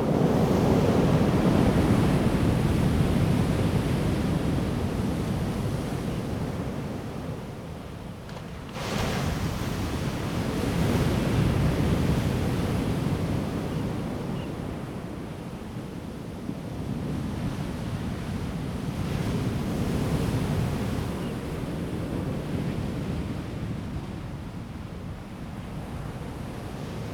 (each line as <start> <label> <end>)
0.0 waves 16.0